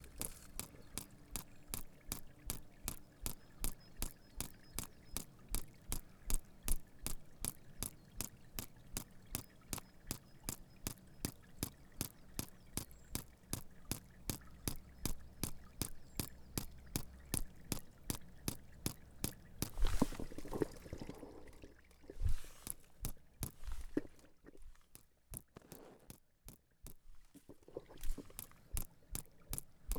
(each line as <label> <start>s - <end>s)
Water Drip 0.0s - 29.9s